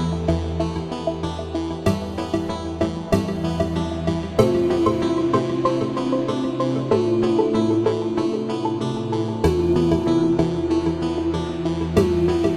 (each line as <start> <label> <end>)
0.0 synth 12.5